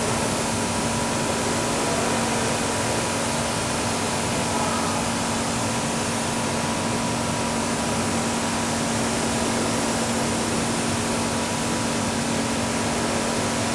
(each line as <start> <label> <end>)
0.0 workers cleaning stairway with high pressure cleaner 13.7